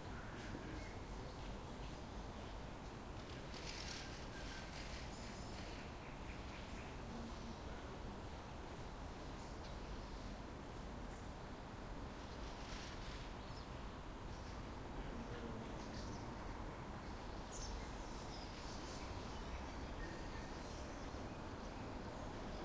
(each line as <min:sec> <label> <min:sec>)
0:00.0 distant train pass-by 0:09.4
0:00.0 wind 0:22.6